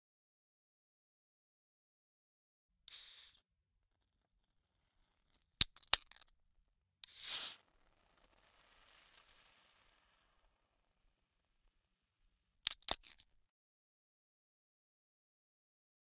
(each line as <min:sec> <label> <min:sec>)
0:05.6 Opening Can 0:06.3
0:12.7 Opening Can 0:13.3